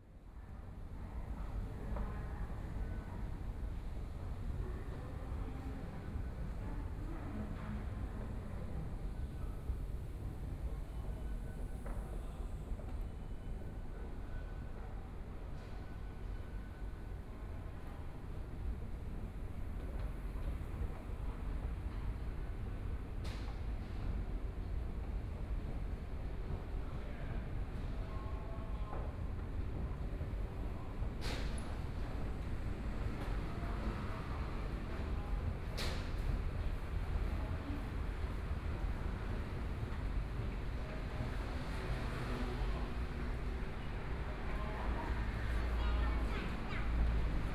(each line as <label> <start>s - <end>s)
Various shops voices 26.4s - 47.5s